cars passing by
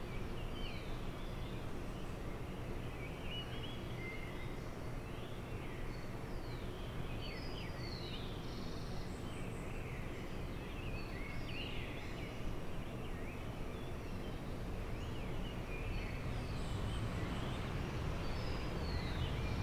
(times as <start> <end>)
15.8 19.6